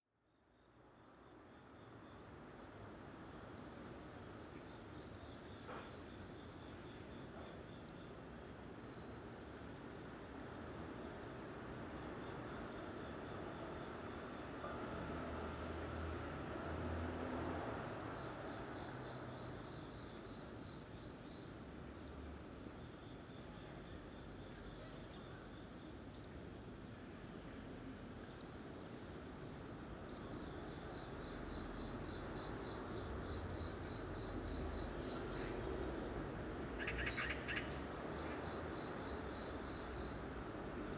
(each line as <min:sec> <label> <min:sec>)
0:36.8 Magpie 0:37.8